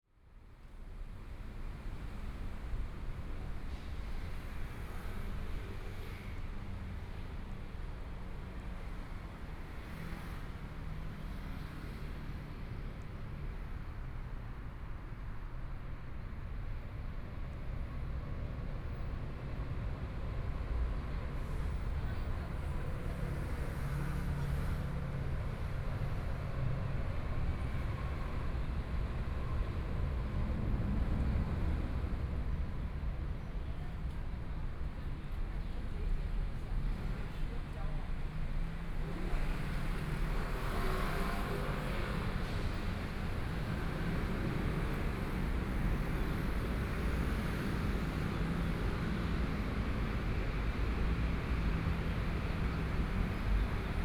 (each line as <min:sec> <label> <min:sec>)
0:01.4 Traffic Sound 0:54.0